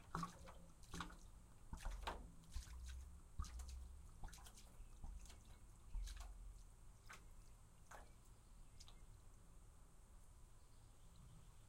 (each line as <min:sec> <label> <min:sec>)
0:00.0 Big Liquid Gurgle Pour Slow 0:09.1